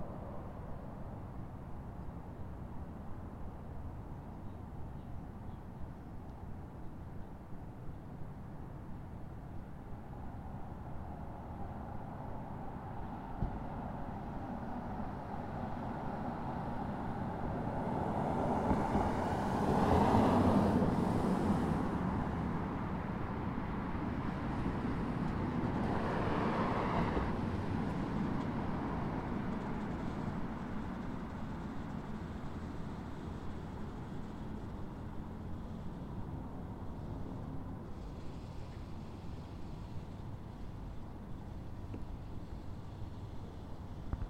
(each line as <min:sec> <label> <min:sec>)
0:10.6 Cars 0:44.2